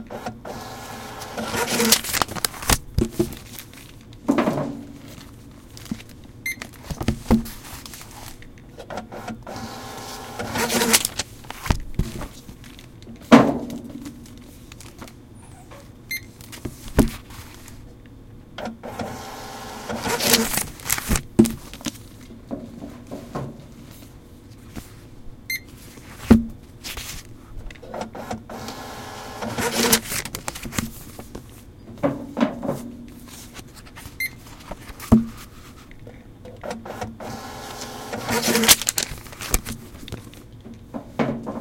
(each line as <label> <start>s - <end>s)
hold receipt being printed 0.1s - 2.8s
library books being checked-in 0.1s - 15.1s
books being de-sensitized 0.5s - 4.0s
hold receipt being printed 9.0s - 11.7s
books being de-sensitized 9.5s - 12.9s
library books being checked-in 18.6s - 25.0s
hold receipt being printed 18.8s - 21.3s
books being de-sensitized 18.9s - 22.0s
library books being checked-in 25.6s - 40.6s
hold receipt being printed 28.0s - 30.8s
books being de-sensitized 28.5s - 31.4s
hold receipt being printed 36.8s - 39.9s
books being de-sensitized 37.2s - 40.2s